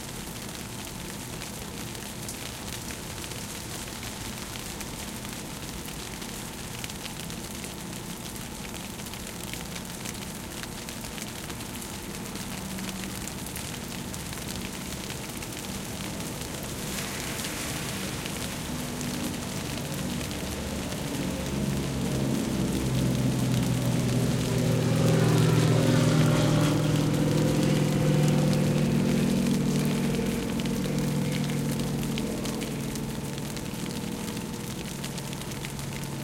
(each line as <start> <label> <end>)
0.0 low hum of the A/C 36.2
0.0 rain drop on the bushes 36.2
14.4 plane 36.1
14.5 car passing by 35.2